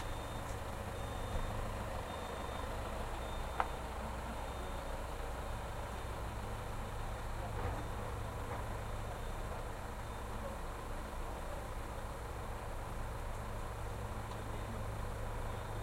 beeping 0.0 - 11.7
passing by cars 0.0 - 15.8
recharging trucks 0.0 - 15.8
voices 0.0 - 15.8

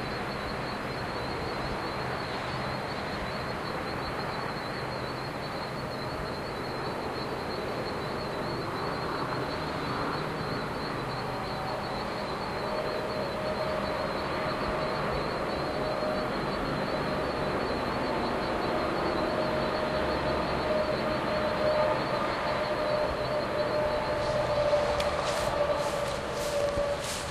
roadnoise 0.0 - 27.3
walking 24.2 - 27.3

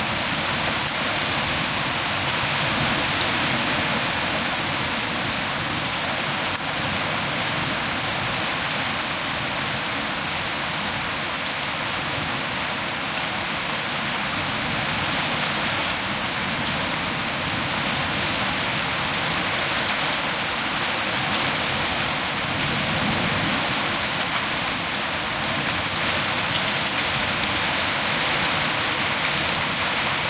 powerful rain 0.0 - 30.2

